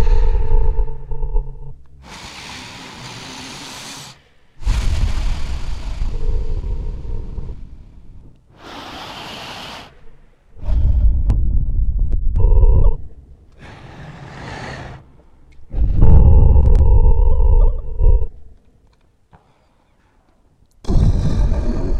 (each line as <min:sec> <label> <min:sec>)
0:00.0 Large monster breathing 0:01.0
0:02.0 Large monster breathing 0:11.3
0:13.5 Large monster breathing 0:16.3